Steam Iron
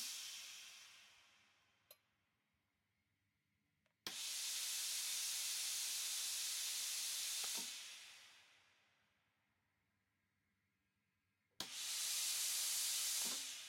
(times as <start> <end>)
0.0 1.4, 4.1 8.6, 11.6 13.6